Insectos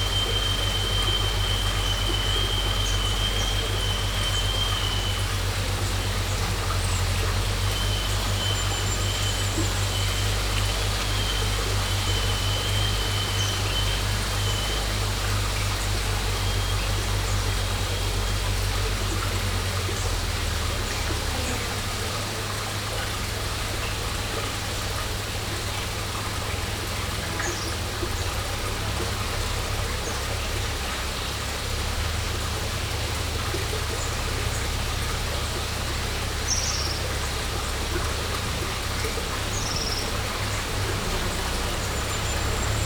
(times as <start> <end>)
0.0 28.4